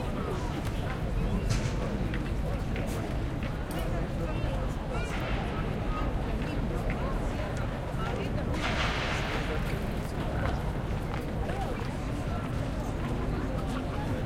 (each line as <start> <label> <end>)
0.0 people walking along 14.2